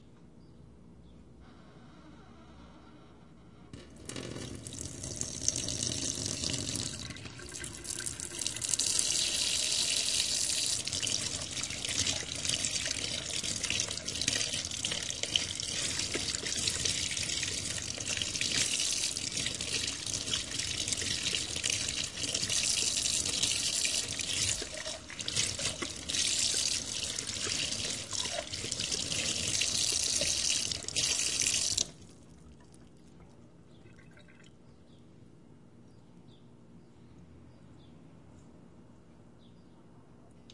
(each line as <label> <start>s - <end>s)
water faucet 3.8s - 32.1s